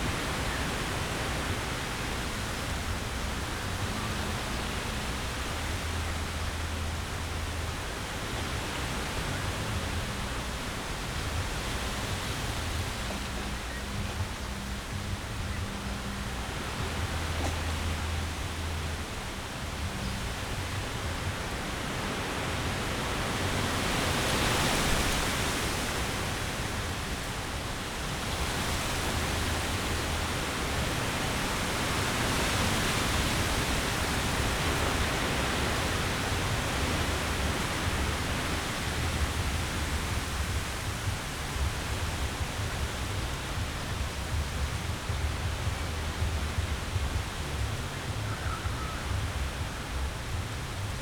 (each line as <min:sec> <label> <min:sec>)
0:00.0 fresh wind in the poplar trees 0:51.0